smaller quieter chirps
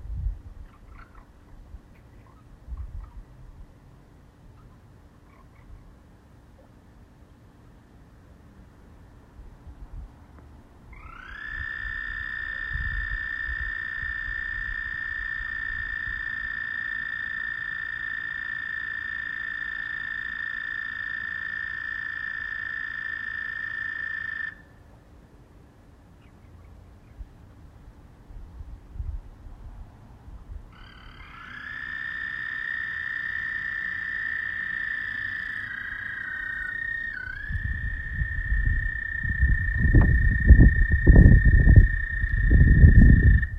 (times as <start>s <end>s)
30.8s 43.5s